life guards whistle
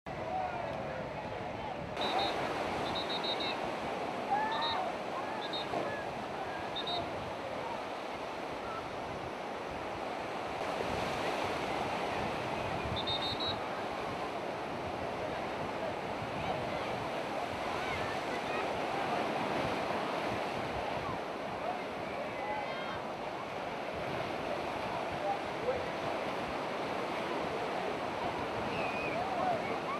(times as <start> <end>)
2.0 3.6, 4.3 5.9, 6.7 7.1, 12.9 13.6